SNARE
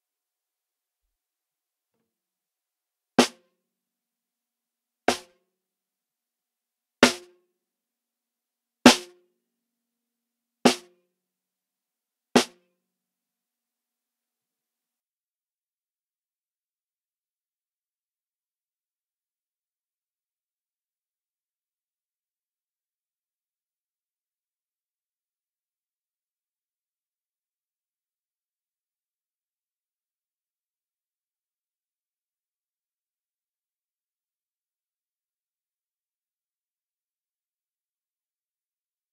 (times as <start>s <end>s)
7.0s 7.3s, 8.9s 9.1s